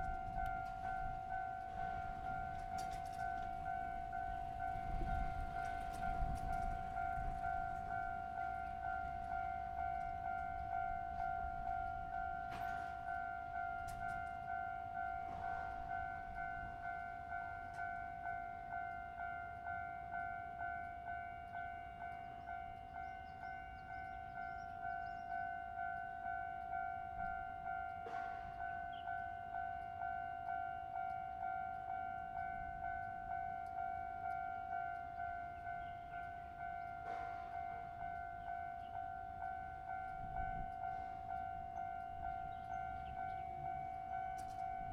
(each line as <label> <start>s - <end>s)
The train runs through 0.0s - 44.9s
Traffic sound 32.6s - 44.9s